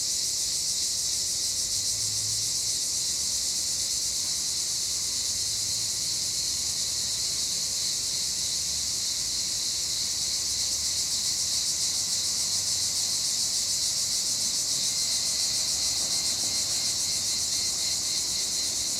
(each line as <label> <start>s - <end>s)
Cicadas 0.0s - 18.9s
rare traffic 1.9s - 18.9s